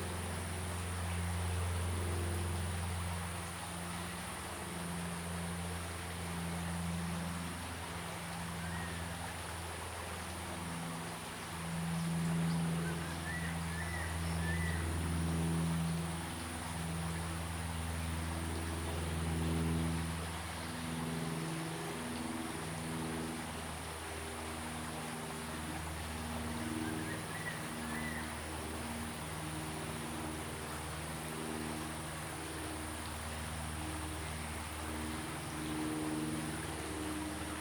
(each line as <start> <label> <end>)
0.0 Stream 37.6